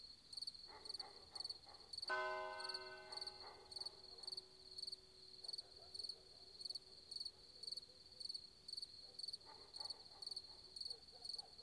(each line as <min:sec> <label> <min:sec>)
0:00.0 Crickets 0:11.6
0:00.7 dogs barking 0:01.9
0:02.1 curch bell 0:04.0
0:02.9 dogs barking 0:04.4
0:05.4 dogs barking 0:08.0
0:09.0 dogs barking 0:11.6